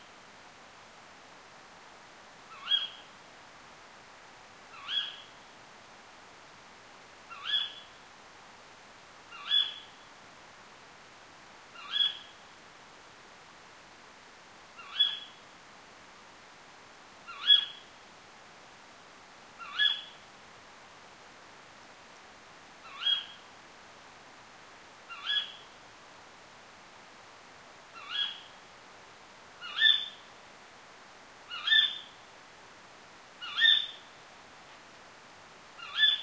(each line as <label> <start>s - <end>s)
female Tawny Owls (Strix aluco) screeching 35.8s - 36.2s